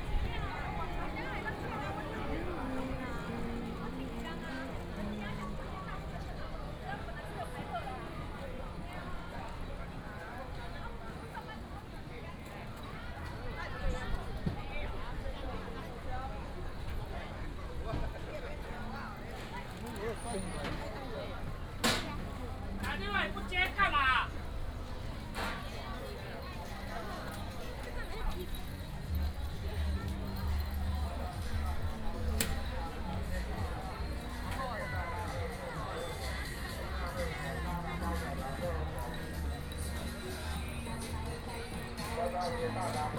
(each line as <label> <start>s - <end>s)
Walking on the road 0.0s - 43.1s